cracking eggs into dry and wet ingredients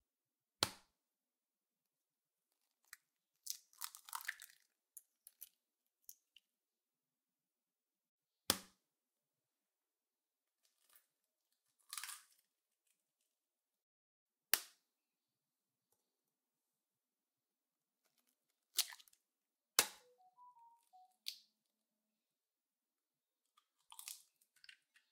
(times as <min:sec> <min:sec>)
0:02.8 0:06.4, 0:23.5 0:25.1